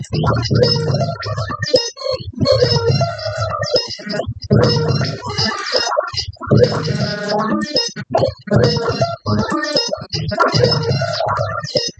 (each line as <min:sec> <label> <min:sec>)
0:00.0 glitchy rhythm 0:11.9